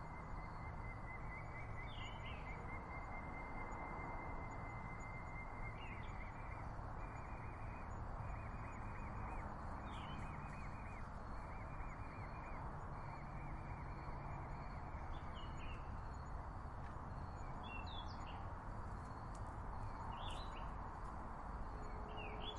0.0s crickets 22.5s

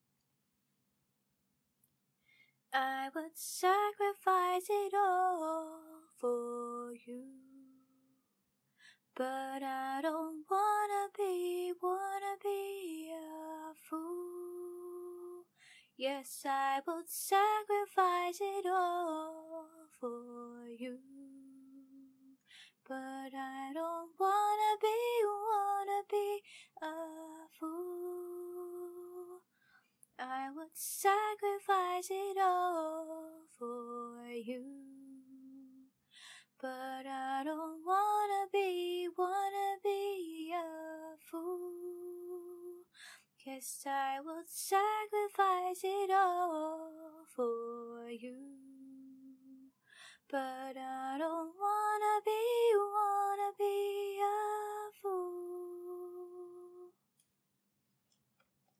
2.7s Female singing 7.8s
9.2s Female singing 22.2s
22.8s Female singing 29.4s
30.2s Female singing 35.8s
36.6s Female singing 49.7s
50.3s Female singing 56.9s

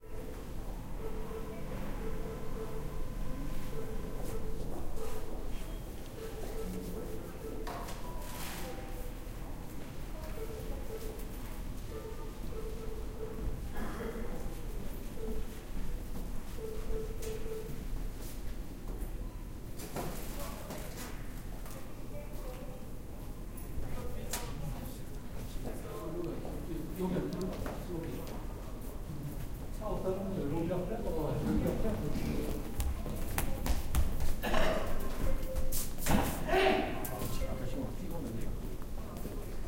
31.7s footsteps 36.4s

